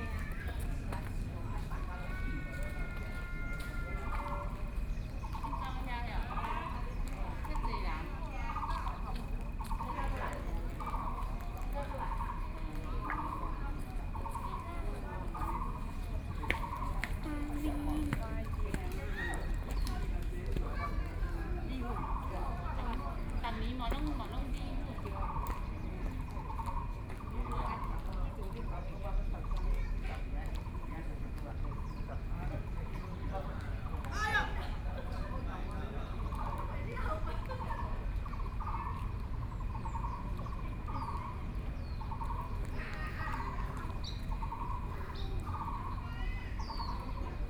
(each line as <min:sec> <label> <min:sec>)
0:00.0 Elderly voice chat 0:40.2
0:04.1 Birdsong 0:47.4
0:38.0 Frogs sound 0:47.3